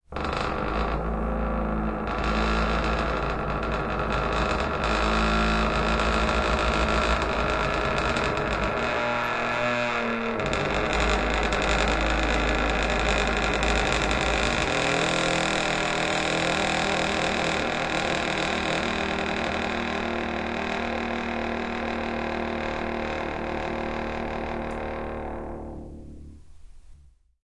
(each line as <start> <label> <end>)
0.0 door creaking long version 26.5